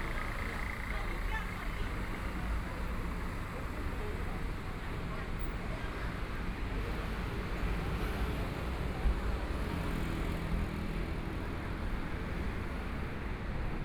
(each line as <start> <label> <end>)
0.0 Traffic Sound 4.7
0.0 Pedestrians on the road 13.8